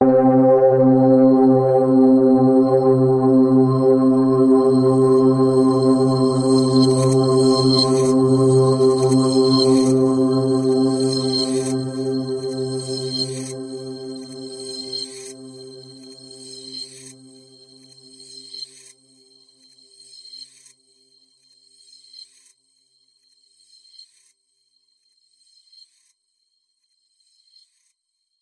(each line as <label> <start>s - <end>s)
multi-sampled synth pad 0.0s - 16.7s